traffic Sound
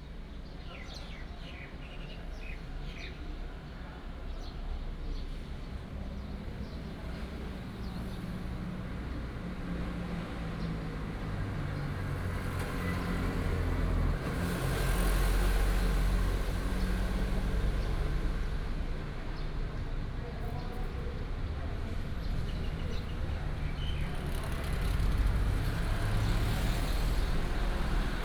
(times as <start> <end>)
6.2 28.2